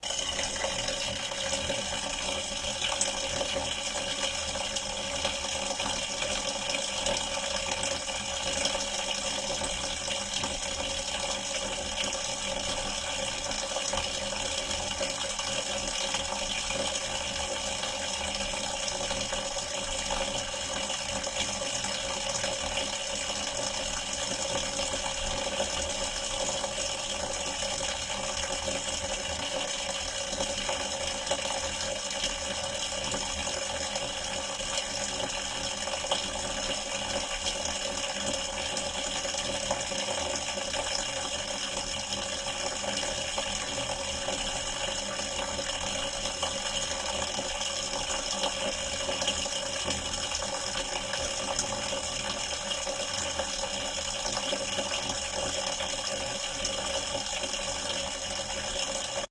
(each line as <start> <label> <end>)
0.0 water spring 17.2
0.0 water tank 59.3